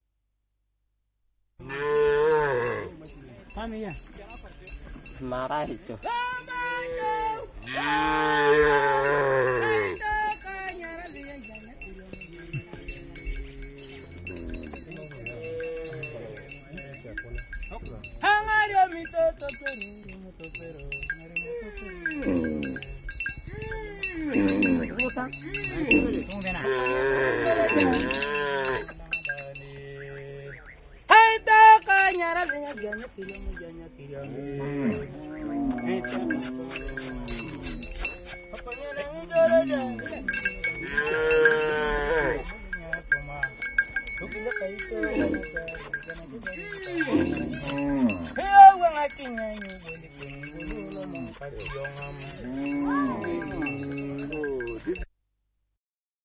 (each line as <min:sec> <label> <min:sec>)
0:01.6 Cattle-song-southsudan 0:55.1